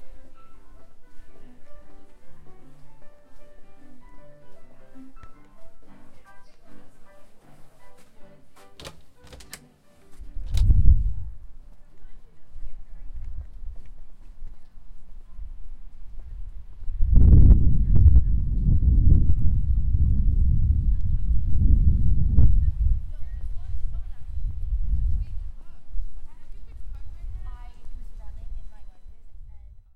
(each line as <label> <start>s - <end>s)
people 22.5s - 29.9s